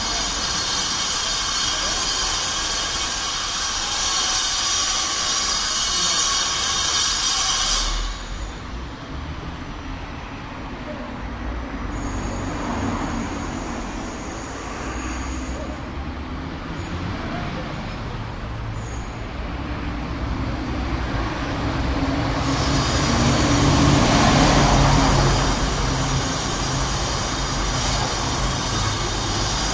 0.0s Construction Works House Building Noise 29.7s

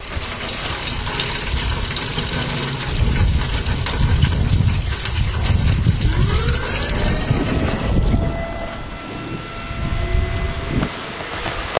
0.0s RAIN COMING DOWN THE GUTTER 9.0s
0.0s THUNDERSTORM 11.7s
0.0s TORNADO SIRENS SUDDENLY WENT OFF 11.7s

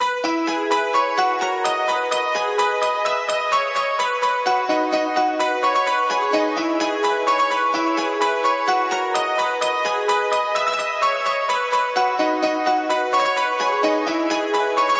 0.0s Bright Piano 14.9s

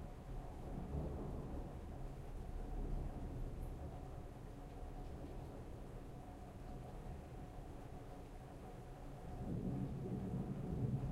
0.0s medium rain 11.1s
0.6s thunder 2.0s
9.4s thunder 11.1s

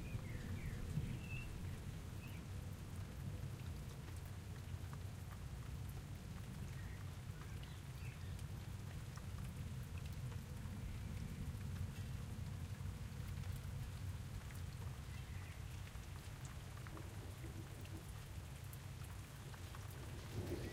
0.0s Silent rain 20.7s
20.0s thunder - both close and far away 20.7s

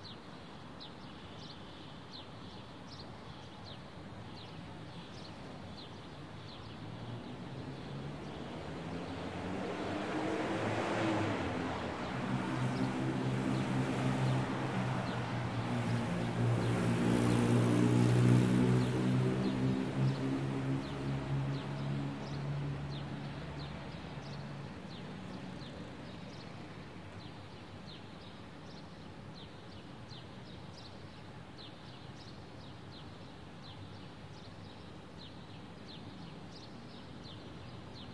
18.8s Birds 38.1s

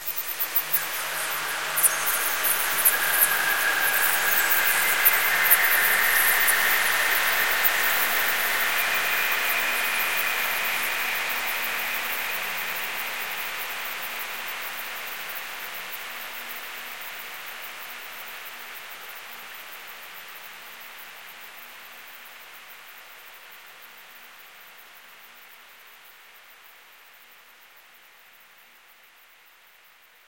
0.0s sweeps 13.0s

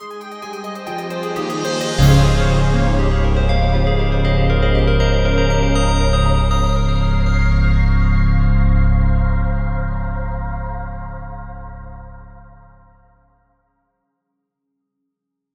0.0s fanfare 8.5s
1.2s cinematic hit 13.0s

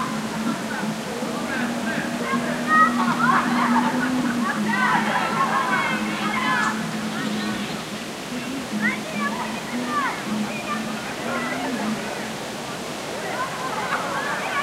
0.0s branches of trees moving with the wind 14.6s
0.0s distant voices of young people 14.6s
0.0s races with the bikes 14.6s

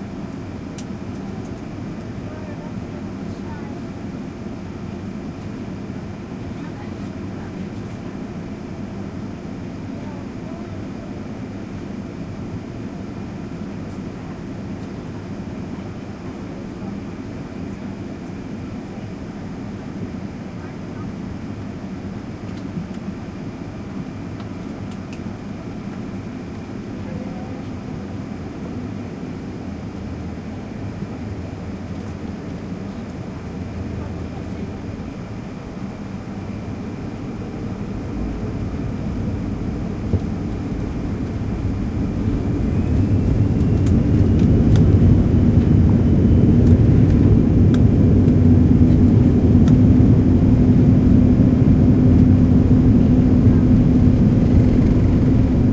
0.0s Airplane taxi on runway and take off 55.7s

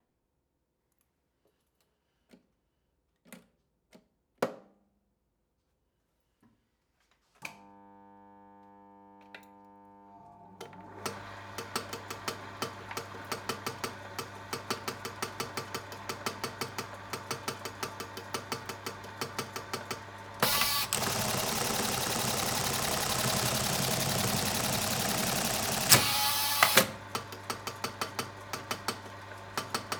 10.2s eyelet machine 29.9s

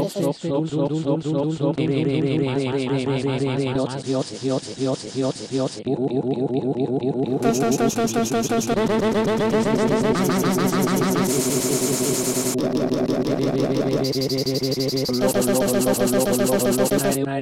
0.0s rapping 5.8s

